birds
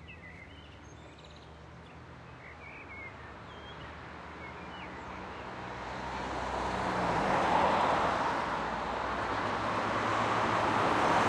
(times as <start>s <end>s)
0.0s 5.7s